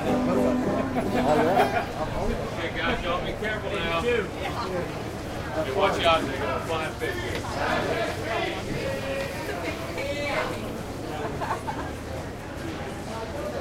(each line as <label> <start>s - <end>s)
banjo 0.0s - 3.3s
people 0.0s - 13.6s